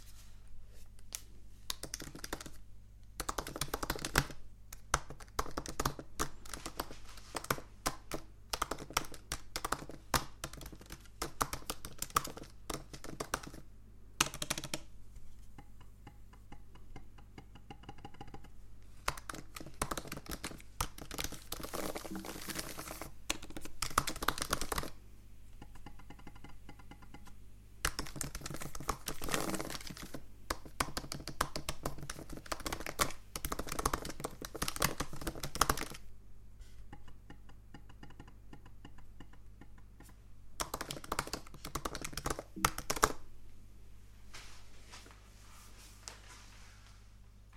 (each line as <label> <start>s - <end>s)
Macbook Pro Keyboard 1.7s - 2.6s
Macbook Pro Keyboard 3.2s - 13.6s
Macbook Pro Keyboard 14.2s - 14.9s
Macbook Pro Keyboard 17.4s - 25.0s
Macbook Pro Keyboard 25.7s - 36.0s
Macbook Pro Keyboard 40.0s - 43.2s